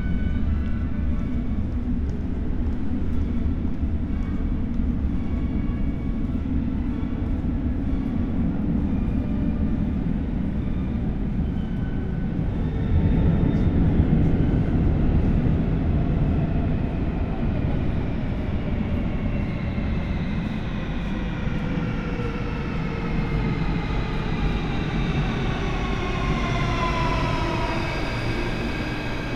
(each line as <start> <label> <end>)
0.0 departing metro trains 29.3